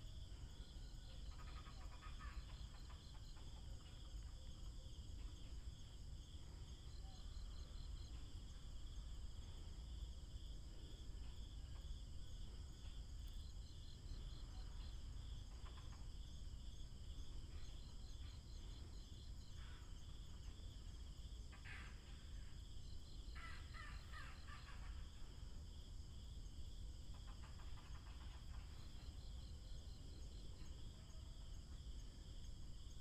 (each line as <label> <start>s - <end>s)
Insects sound 0.0s - 33.0s
Squirrel call 1.3s - 3.0s
Squirrel call 23.4s - 25.1s